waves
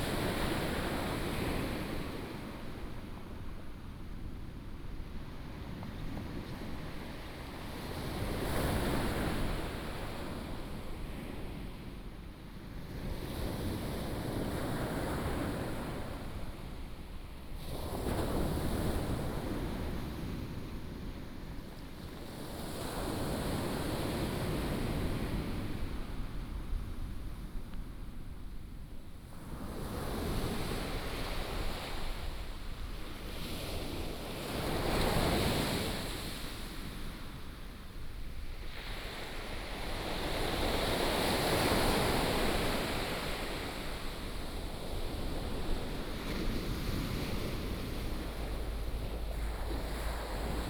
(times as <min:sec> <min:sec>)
0:29.6 0:50.6